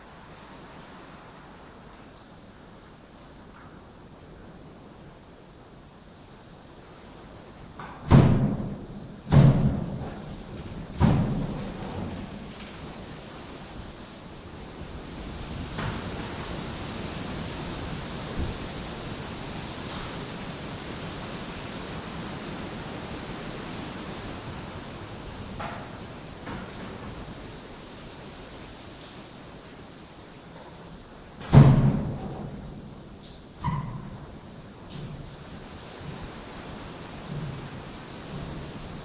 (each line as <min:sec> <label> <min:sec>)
0:07.4 tapping and clanging doors at the wind 0:39.0